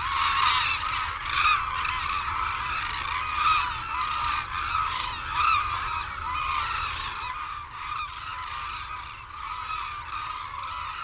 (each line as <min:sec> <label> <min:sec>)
0:00.0 calls and flight calls from white naped cranes and hooded cranes 0:11.0